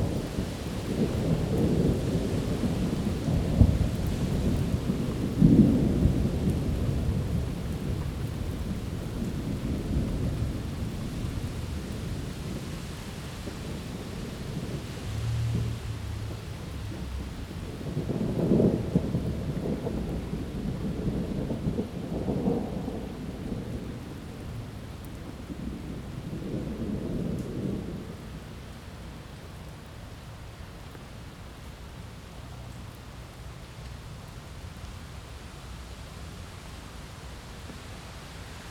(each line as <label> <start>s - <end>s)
gentle thunderstorm rolls in 0.0s - 35.4s
light rain 0.0s - 38.7s